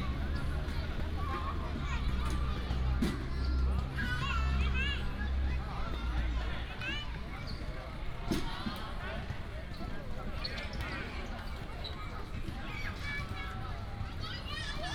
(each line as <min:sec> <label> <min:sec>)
0:00.0 Traffic sound 0:07.0
0:00.0 children 0:07.2
0:12.5 children 0:14.9